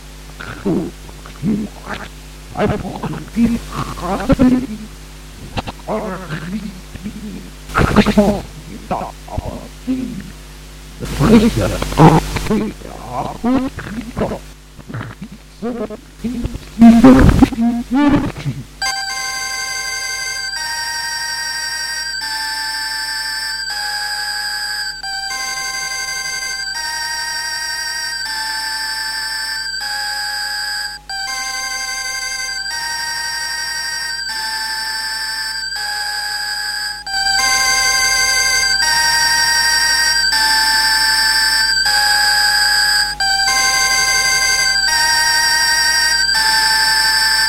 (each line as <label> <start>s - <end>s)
pause signal 18.8s - 47.4s